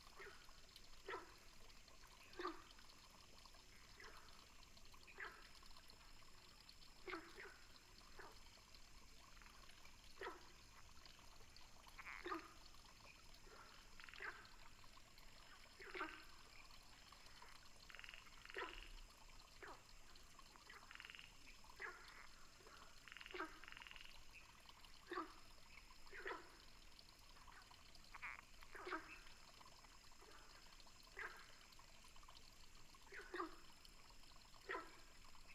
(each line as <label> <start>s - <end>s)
water 0.0s - 35.5s
Frogs chirping 11.8s - 19.0s
Frogs chirping 19.6s - 31.7s